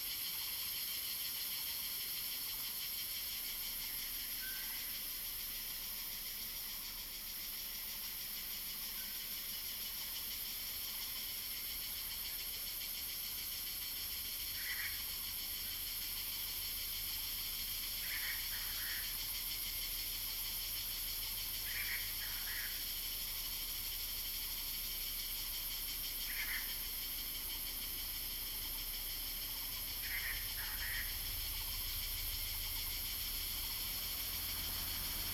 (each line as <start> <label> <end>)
0.0 Cicadas cry 35.3